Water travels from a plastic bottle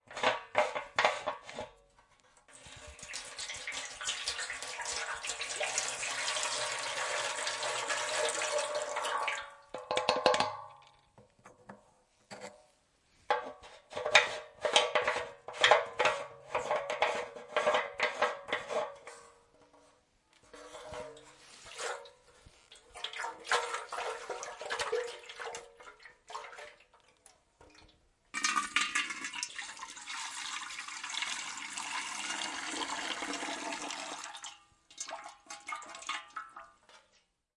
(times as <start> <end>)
2.4 11.0